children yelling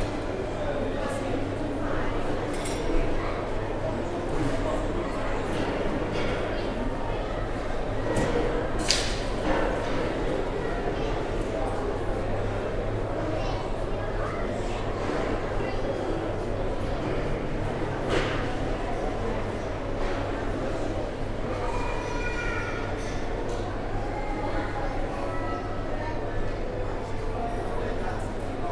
0:21.6 0:23.1

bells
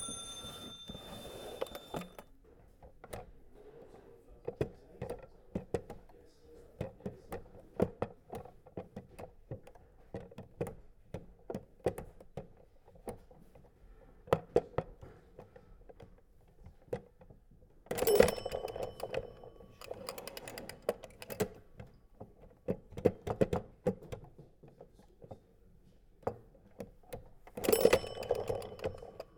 0:00.0 0:02.2, 0:18.0 0:20.2, 0:27.6 0:29.3

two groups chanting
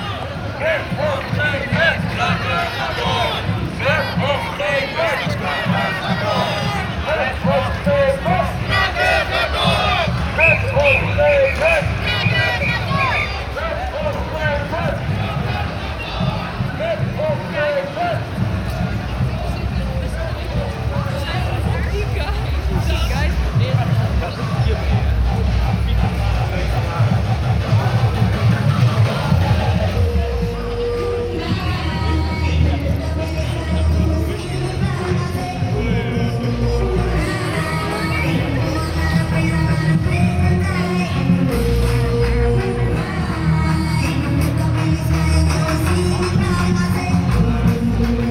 0:08.4 0:10.1

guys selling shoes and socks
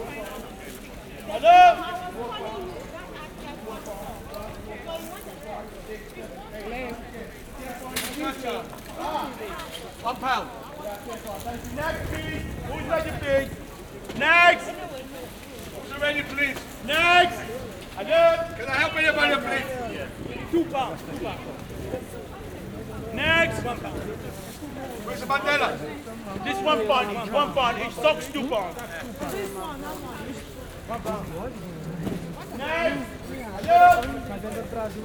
0:10.6 0:14.8

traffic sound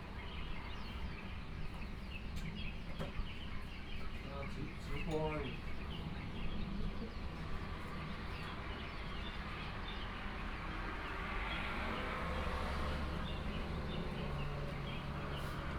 0:06.0 0:15.7

